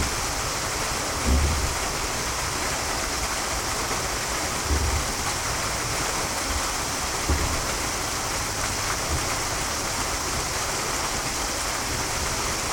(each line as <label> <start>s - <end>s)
old waterwheel 0.0s - 12.7s